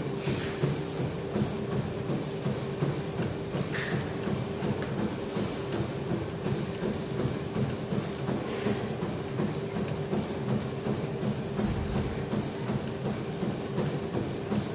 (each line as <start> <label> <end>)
0.0 Treadmills 14.7